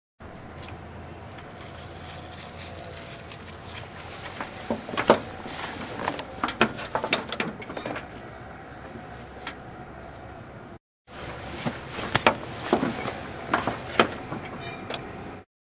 Auto Rickshaw 0.2 - 15.5

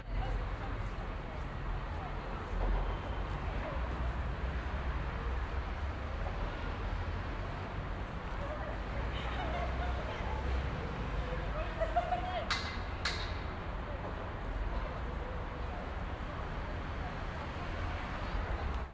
street sounds 0.0 - 18.9
girl laughing 11.5 - 12.6

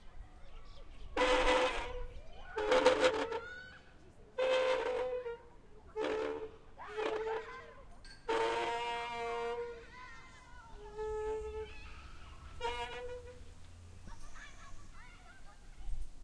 Metal creaking 1.2 - 3.8
Metal creaking 4.4 - 9.9
Metal creaking 10.8 - 14.3

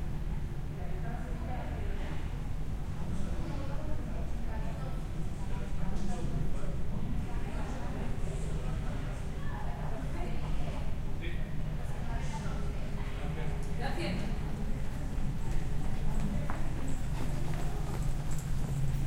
people speaking 0.8 - 18.2

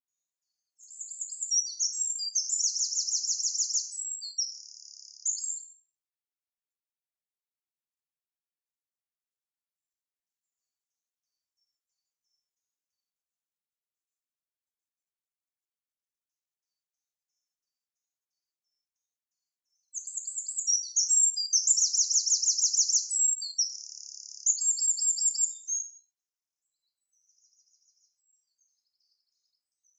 European Wren 0.8 - 5.6
European Wren 20.0 - 26.0

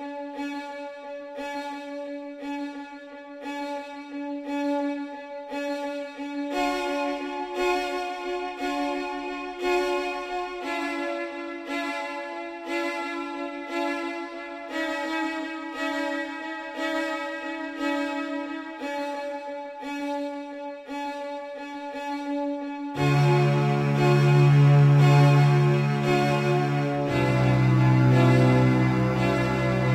string quartet 22.9 - 29.9

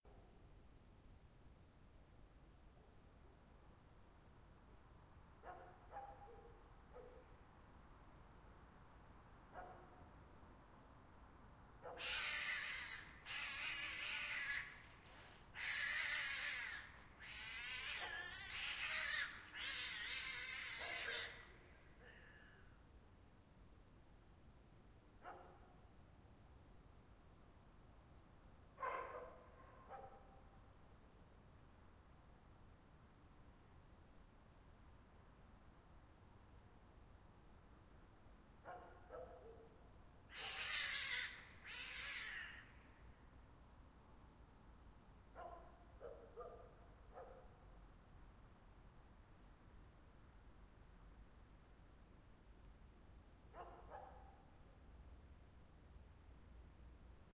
night-cat-fight 11.8 - 22.8
night-cat-fight 40.3 - 43.2

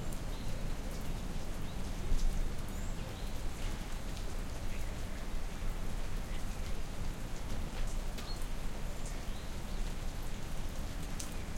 rain 0.0 - 11.5

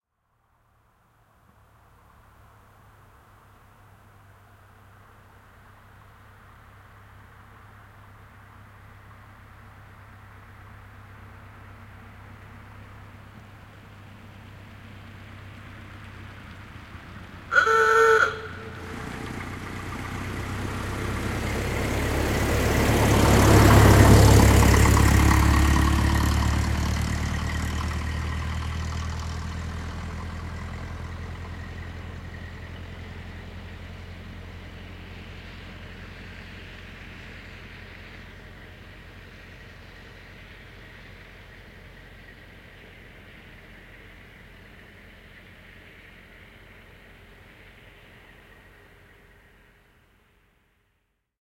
old car passing by 0.6 - 50.9
horn honking 17.5 - 19.2

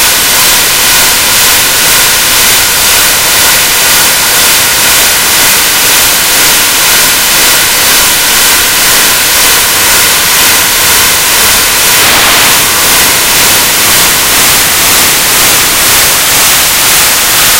Modular Noise Bits 8.1 - 17.5

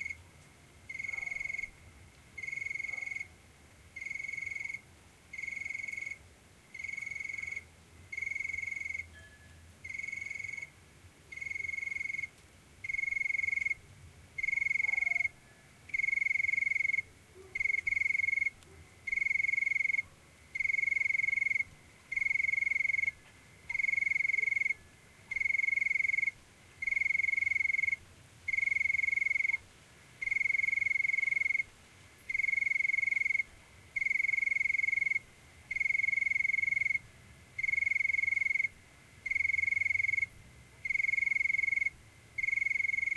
lonely cricket chirps softly 0.0 - 43.1
Dog barkings in background 1.0 - 1.6
Dog barkings in background 2.8 - 3.3
Dog barkings in background 14.8 - 15.4
Dog barkings in background 17.1 - 17.8
Dog barkings in background 18.6 - 19.1

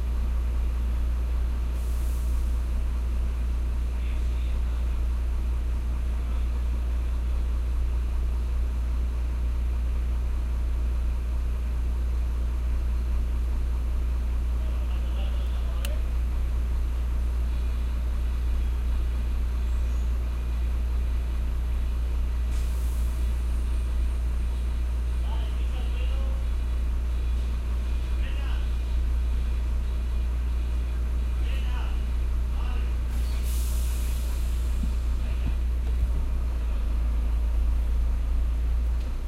Car engine 0.0 - 39.2
truck 0.0 - 39.2
brake 12.3 - 25.7
brake 26.3 - 39.2

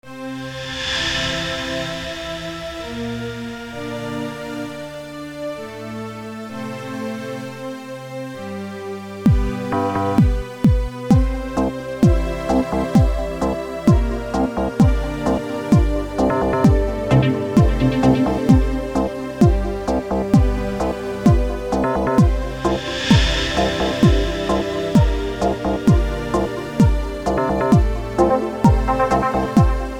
Electronic music 9.3 - 29.9

